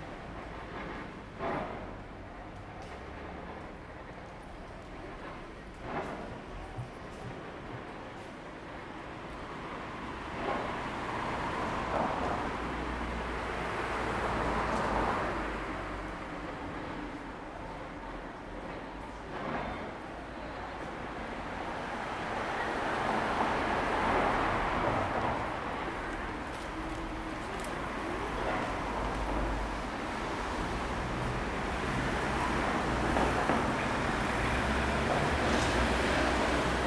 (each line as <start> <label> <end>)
0.0 city bus 36.8
0.0 people walking by 36.8
0.0 train rode by 36.8